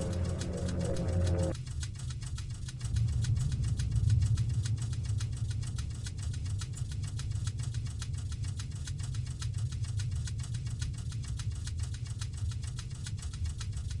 strange drone 0:00.0 - 0:01.6
typewriter rythym 0:00.0 - 0:14.0

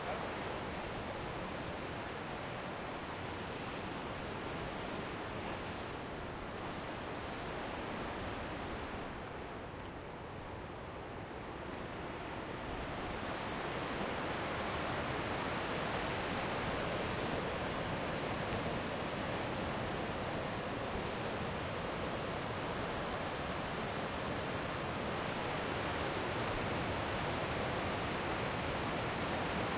water 0:00.0 - 0:29.7

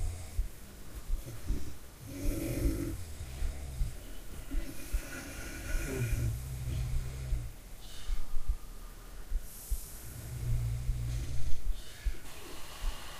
calmed snores with a lot of breath 0:00.0 - 0:00.5
calmed snores with a lot of breath 0:01.2 - 0:08.2
calmed snores with a lot of breath 0:09.5 - 0:13.1

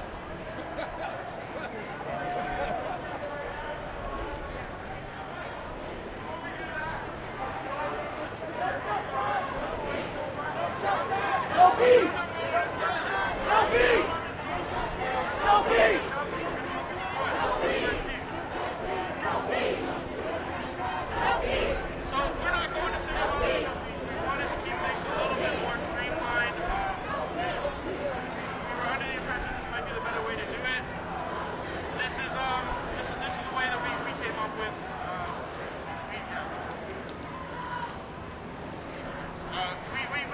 Crowd Protest March passing 0:00.0 - 0:40.3

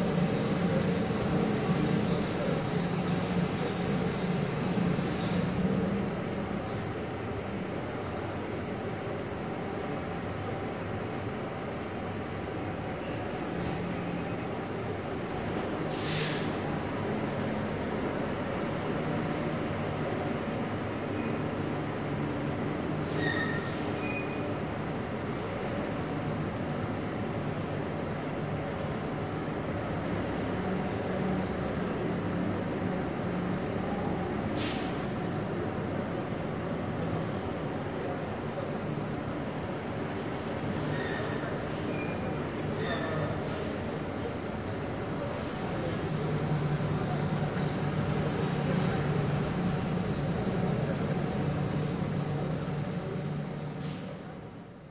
watering plant/trees that grow in huge pots 0:00.0 - 0:07.5
watering plant/trees that grow in huge pots 0:37.4 - 0:54.6

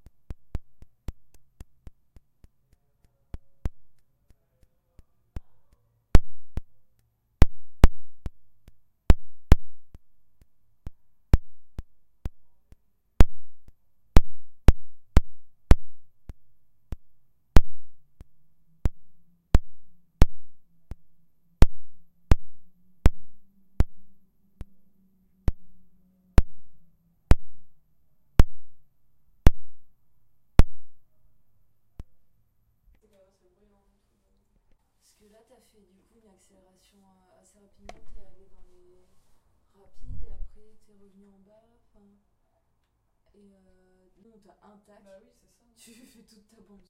mini stobe 0:00.0 - 0:31.2

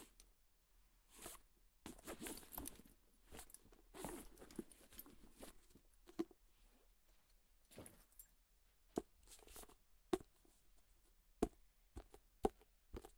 hardcover book being handled 0:01.1 - 0:08.0

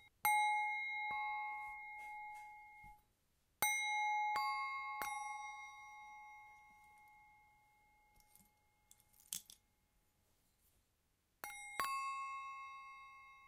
Tibetan Singing Bowls 0:00.0 - 0:03.0
Tibetan Singing Bowls 0:03.7 - 0:09.0

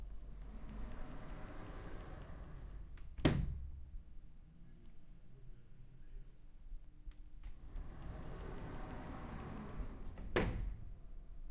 office sliding door 0:00.1 - 0:03.6
office sliding door 0:07.4 - 0:11.2

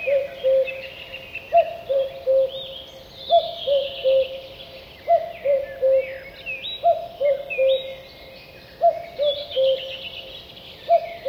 Cuckoo, distant, unusual cuckooing 0:00.0 - 0:00.8
small birds in the bg 0:00.0 - 0:11.2
Cuckoo, distant, unusual cuckooing 0:01.5 - 0:02.6
Cuckoo, distant, unusual cuckooing 0:03.3 - 0:04.4
Cuckoo, distant, unusual cuckooing 0:05.1 - 0:06.2
Cuckoo, distant, unusual cuckooing 0:08.8 - 0:10.0

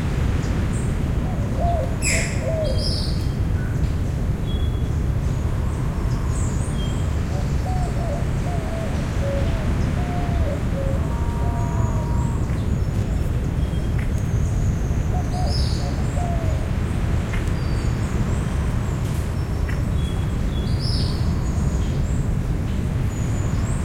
birds in the jungle 0:00.1 - 0:23.8

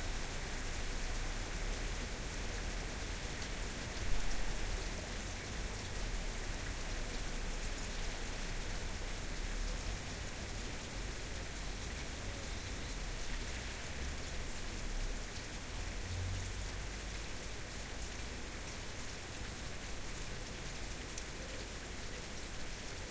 rain slowly ceasing 0:00.0 - 0:23.1

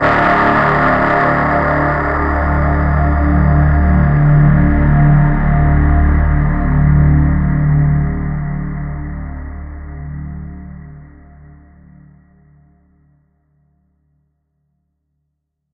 synth 0:00.0 - 0:05.9

